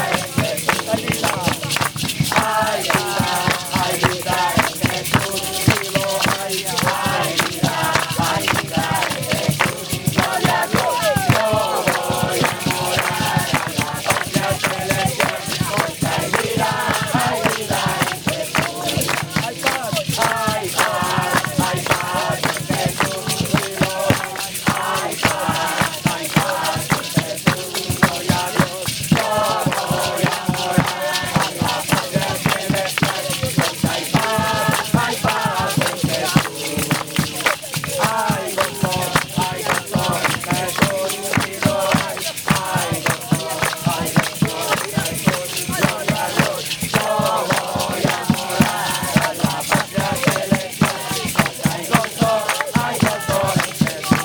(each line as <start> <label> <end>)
0.0 youth with mission evangelise and sing another song 54.2